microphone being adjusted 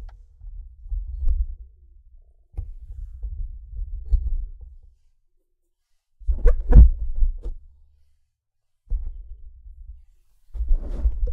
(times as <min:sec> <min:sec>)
0:06.3 0:07.6, 0:10.6 0:11.3